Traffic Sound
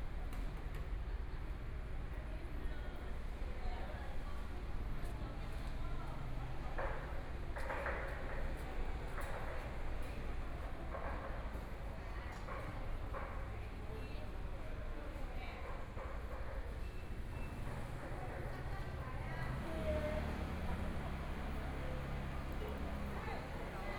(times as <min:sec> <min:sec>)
0:17.0 0:23.9